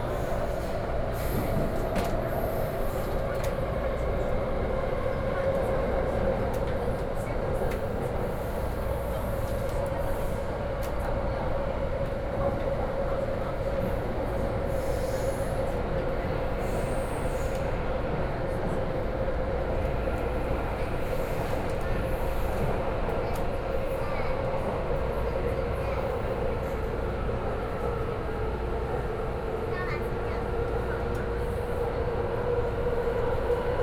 MRT trains 0.0 - 33.8

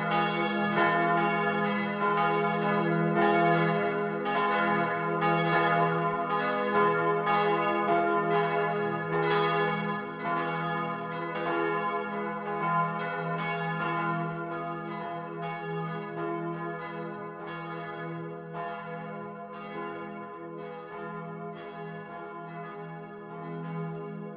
noon bells on the bell tower 0.0 - 24.3

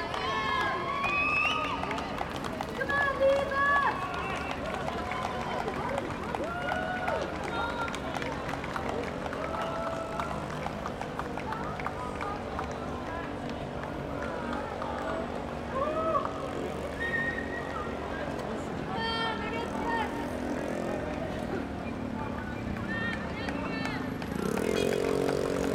crowds cheering on the runners 0.0 - 25.7
traffic jam 0.0 - 25.7

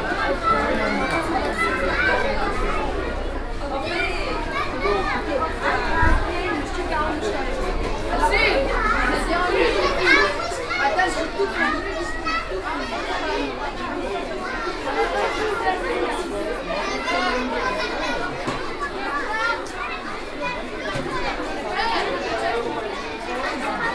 Children and parents 0.0 - 23.9

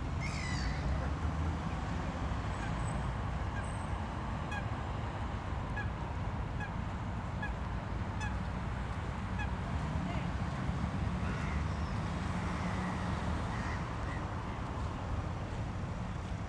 different types of birds 0.2 - 1.0

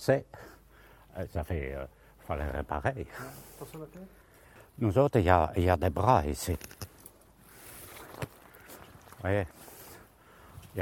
old worker testimony 0.0 - 10.8

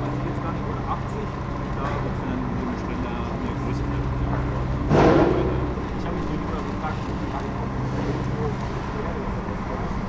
excavator loading a truck 0.0 - 10.0

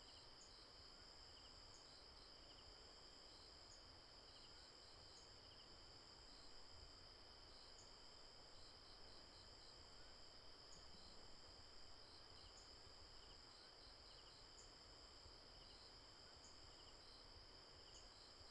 Insect noise 0.0 - 18.5

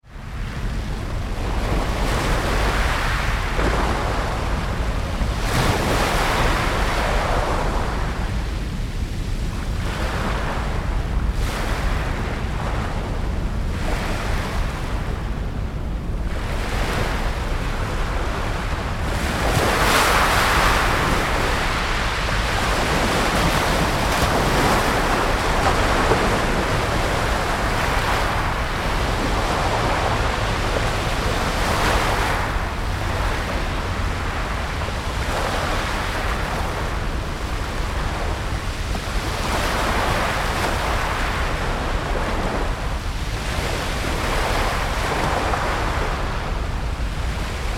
Surf at the cobblestone beach 0.0 - 47.7
rumbling of the ferryboats' engines 0.0 - 47.7

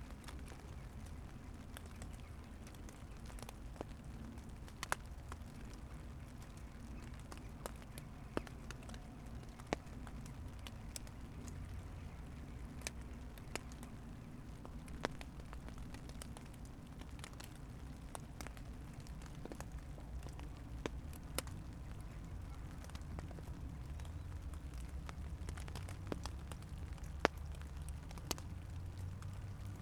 raindrops on plastic garbage bags 0.0 - 29.8

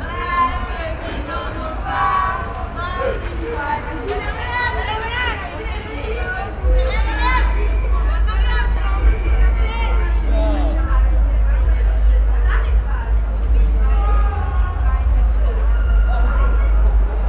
baptized students walking 0.0 - 17.2
happy people, shouting 13.6 - 17.2

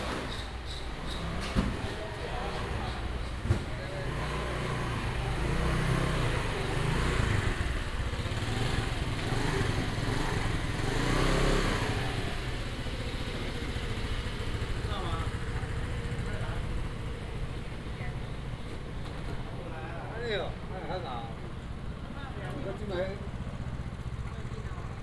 Traffic sound 0.0 - 25.0

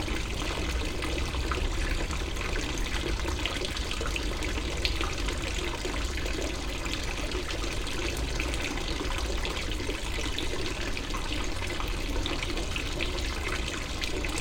fountain 0.0 - 14.4

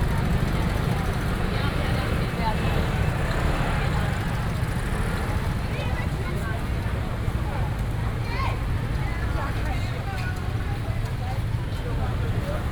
Walking through the traditional market 0.0 - 12.7
traffic sound 0.0 - 12.7

